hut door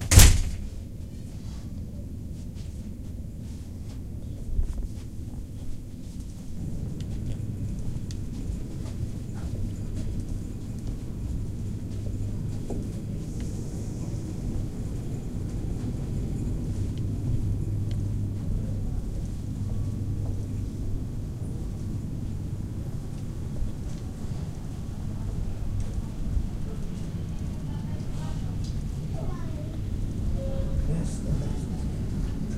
0.0 0.8

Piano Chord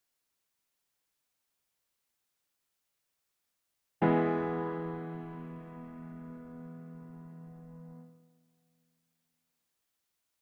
4.0 8.2

